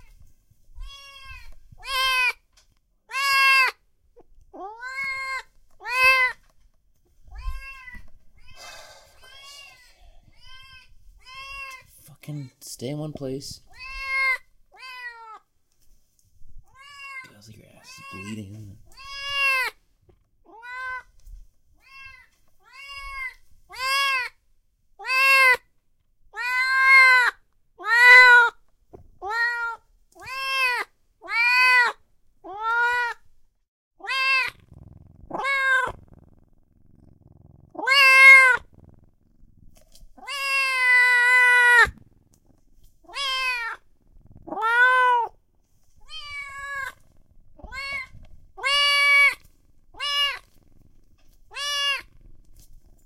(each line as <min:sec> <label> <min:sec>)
0:00.8 kitten meows 0:02.4
0:03.1 kitten meows 0:03.8
0:04.6 kitten meows 0:06.4
0:07.3 kitten meows 0:12.5
0:13.7 kitten meows 0:15.4
0:16.6 kitten meows 0:19.8
0:20.5 kitten meows 0:21.1
0:21.8 kitten meows 0:24.4
0:25.0 kitten meows 0:25.6
0:26.3 kitten meows 0:28.6
0:29.2 kitten meows 0:33.2
0:34.0 kitten meows 0:34.7
0:35.3 kitten meows 0:36.0
0:37.8 kitten meows 0:38.7
0:40.2 kitten meows 0:42.0
0:43.1 kitten meows 0:43.8
0:44.5 kitten meows 0:45.4
0:46.0 kitten meows 0:47.0
0:47.6 kitten meows 0:49.4
0:50.0 kitten meows 0:50.5
0:51.5 kitten meows 0:52.1